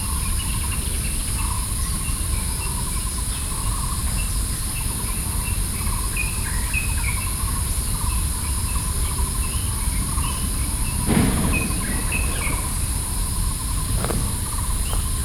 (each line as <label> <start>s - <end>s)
Birdsong 8.7s - 15.2s